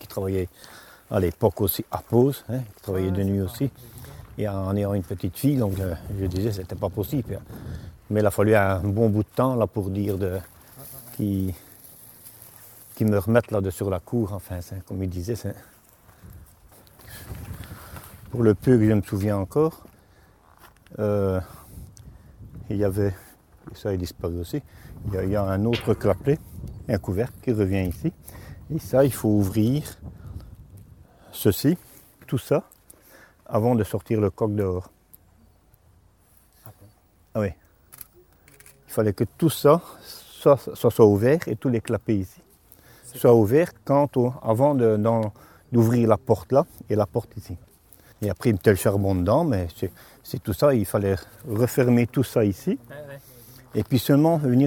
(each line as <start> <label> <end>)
0.0 old worker testimony 30.5
31.1 old worker testimony 35.4
36.2 old worker testimony 54.6